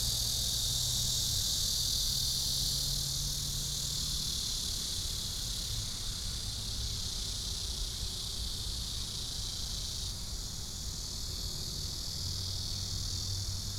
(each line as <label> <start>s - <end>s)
Cicadas 0.0s - 13.7s